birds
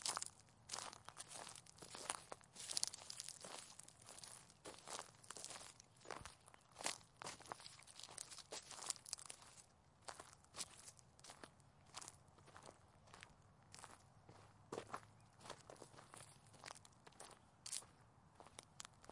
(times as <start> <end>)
5.4 7.0